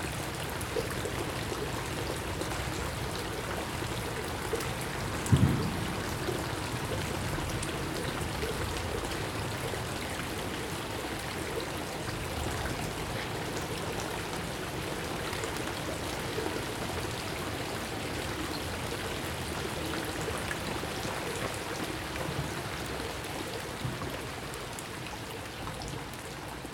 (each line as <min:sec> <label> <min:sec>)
0:00.0 water 0:26.7